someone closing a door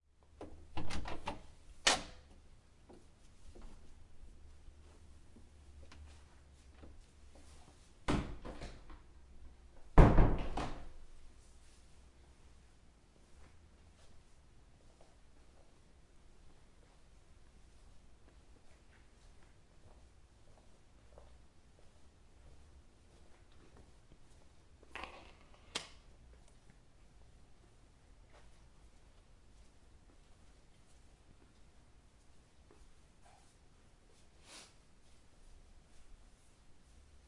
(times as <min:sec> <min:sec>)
0:00.4 0:02.2, 0:10.0 0:10.9